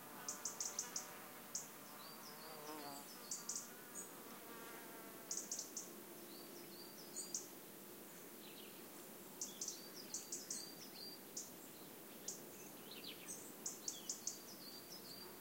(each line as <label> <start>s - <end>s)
buzzing insects 0.0s - 5.9s
singing birds 0.3s - 4.1s
singing birds 5.3s - 7.5s
singing birds 9.4s - 15.4s